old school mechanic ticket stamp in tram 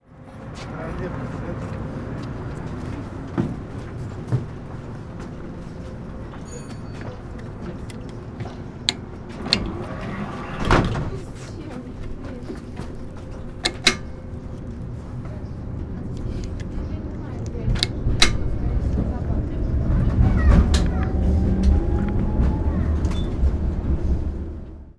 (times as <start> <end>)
2.8 19.9